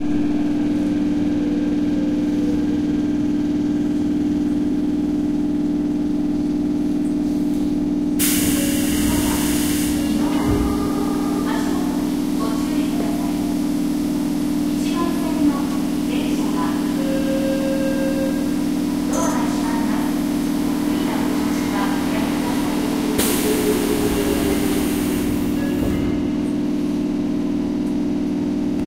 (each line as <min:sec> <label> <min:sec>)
0:00.0 Train Engine 0:28.8